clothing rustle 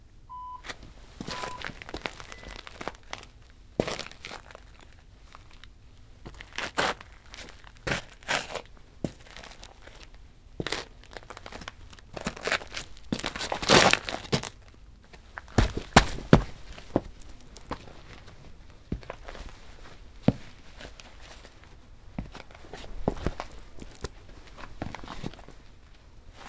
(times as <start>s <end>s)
15.0s 26.4s